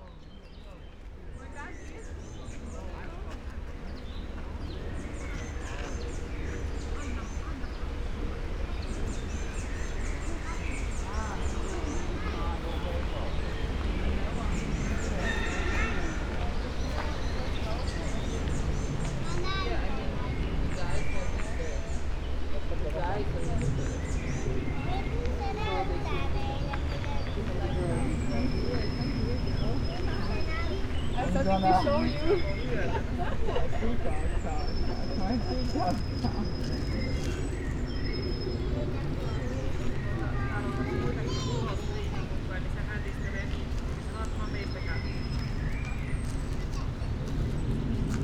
bird 0:00.0 - 0:22.2
wind 0:00.0 - 0:48.2

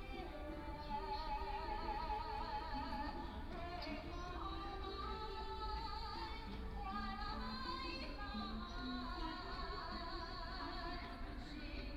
woman is singing 0:00.0 - 0:11.9

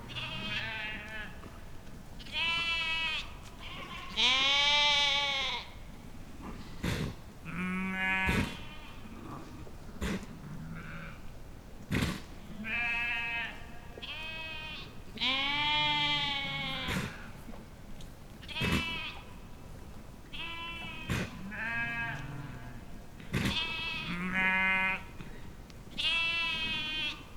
sheep 0:00.1 - 0:05.7
sheep 0:11.9 - 0:17.4
sheep 0:18.4 - 0:19.4
sheep 0:20.3 - 0:27.3

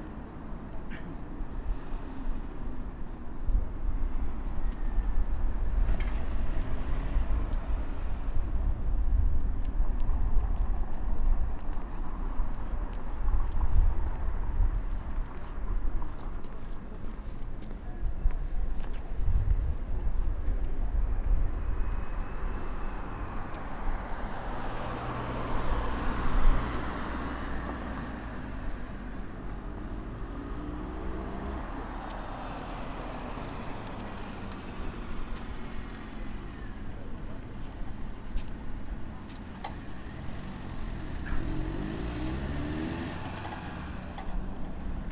Light wind 0:00.0 - 0:45.1
cars passing by 0:00.0 - 0:45.1
people walking around in masks 0:07.2 - 0:23.4

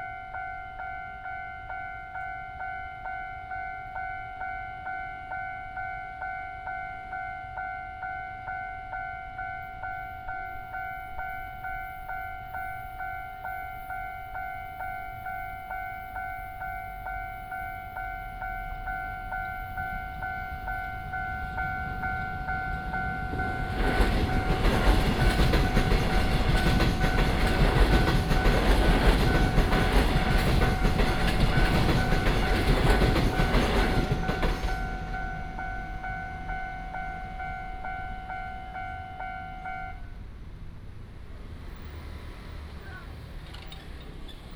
The train runs through 0:00.0 - 0:44.5
traffic sound 0:09.6 - 0:44.5

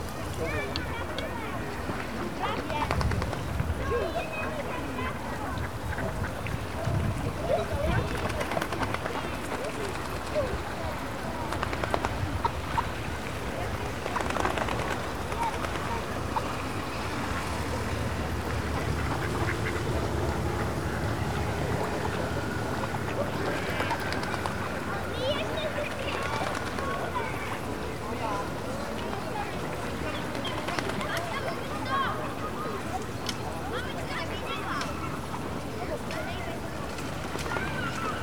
swans 0:01.7 - 0:38.2
ducks 0:18.5 - 0:22.2

